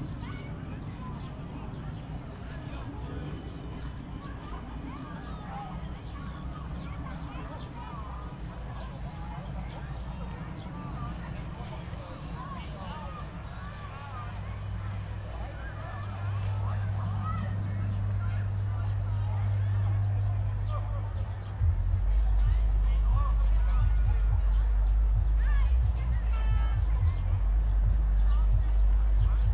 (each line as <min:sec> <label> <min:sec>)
0:00.0 distant hum of thausands of people 0:29.5
0:14.4 deep frequencies of a sound system 0:29.5